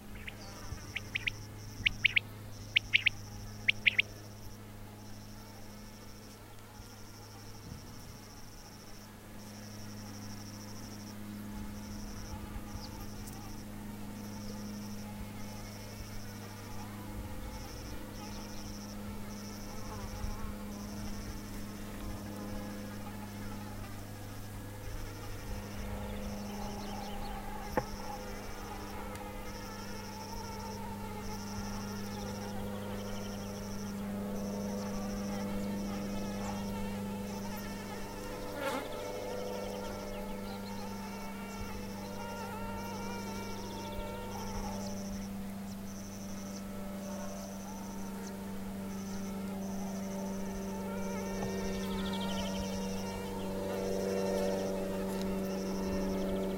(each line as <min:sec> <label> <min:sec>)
0:00.0 airplane passing 0:56.5
0:00.0 cicadas 0:56.5
0:00.2 quail 0:04.1